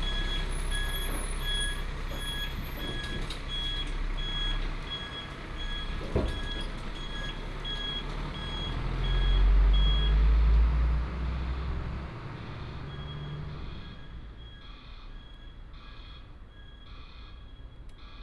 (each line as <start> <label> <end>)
0.0 Truck unloading 9.2
0.0 Traffic sound 18.2